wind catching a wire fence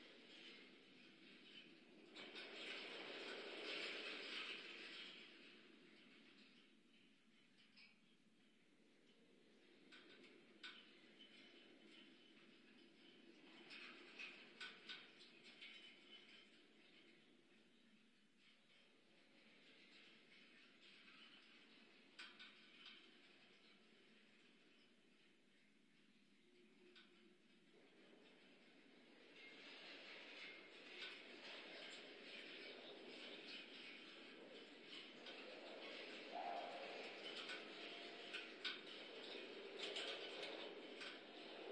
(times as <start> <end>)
27.8 41.7